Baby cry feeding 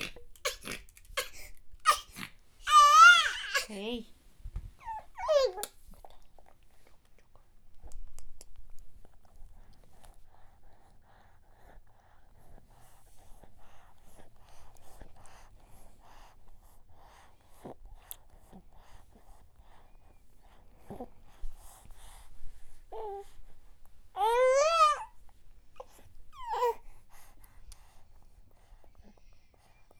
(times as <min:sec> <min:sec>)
0:00.0 0:03.8, 0:04.8 0:05.7, 0:24.2 0:25.2, 0:25.8 0:26.8